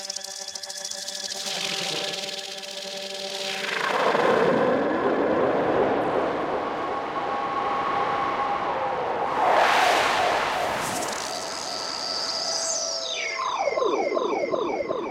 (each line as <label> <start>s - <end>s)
drone 0.0s - 15.1s